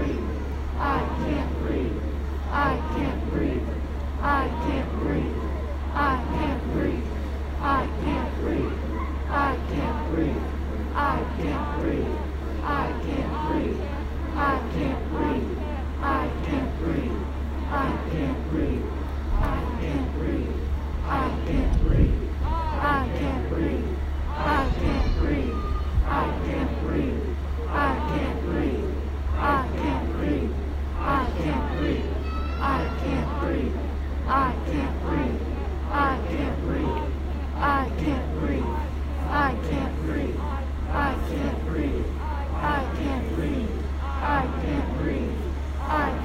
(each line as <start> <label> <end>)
0.0 close up and distant chanting in the crowd 46.2